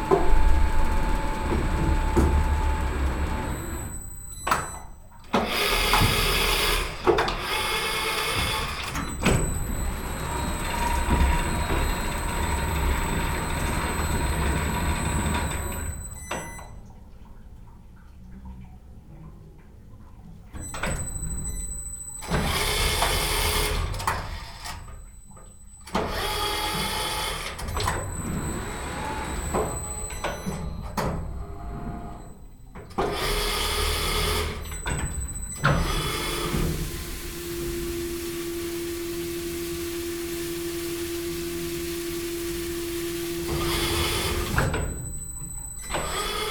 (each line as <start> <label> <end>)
5.4 machine is turning each cheese 16.1